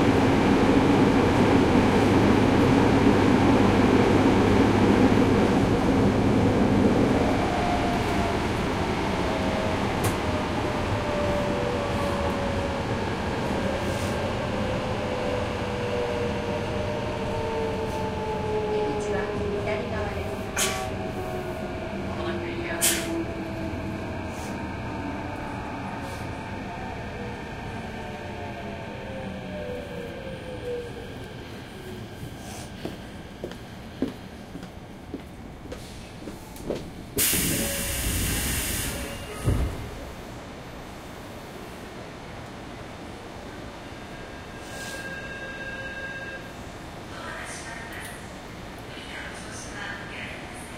0.0s Train Station Engines 50.7s

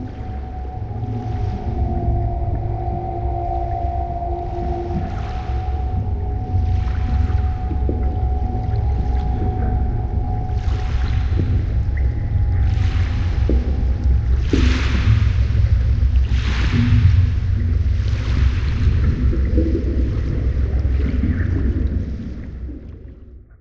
0.0s water 23.6s

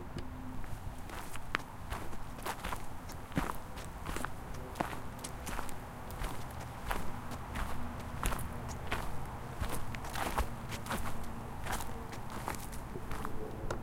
0.6s walking on wood chips 13.4s

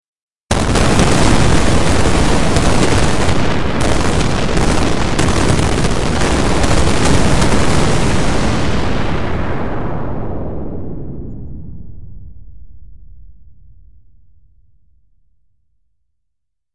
7.3s spaceship explosion6 15.5s

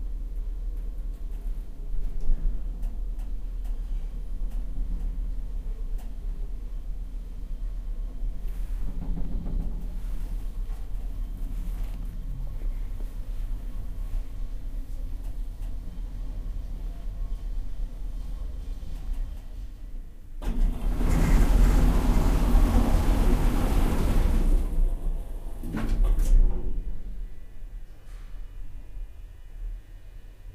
20.4s freight elevator 27.1s

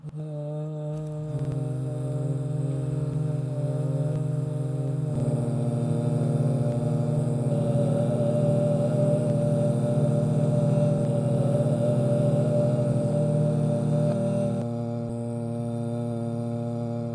0.0s badly sung voice triad 17.1s

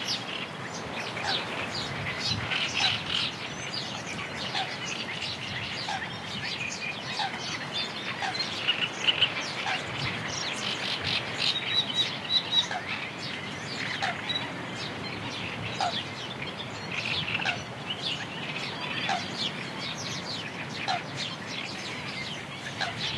0.0s Black-winged Stilt 23.1s
0.0s Great Reed Warbler 23.1s
0.0s wind 23.1s
4.4s Coot 5.0s
7.1s Coot 7.6s
13.8s Coot 14.5s
15.8s Coot 16.0s
17.0s Coot 17.7s
18.7s Coot 19.4s
20.8s Coot 21.1s
22.5s Coot 23.1s

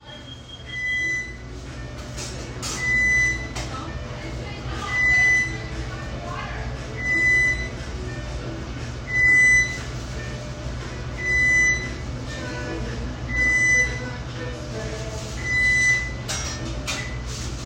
0.0s Hustle and bustle 17.6s
0.0s Oven alarm beeping 17.6s

